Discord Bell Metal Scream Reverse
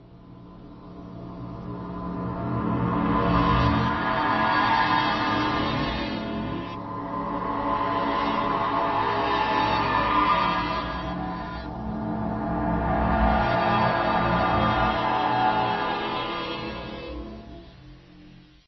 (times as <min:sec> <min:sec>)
0:03.0 0:17.6